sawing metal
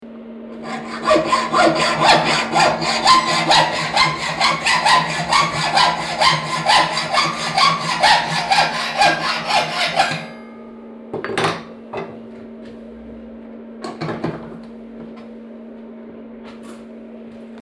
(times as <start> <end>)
0.6 10.6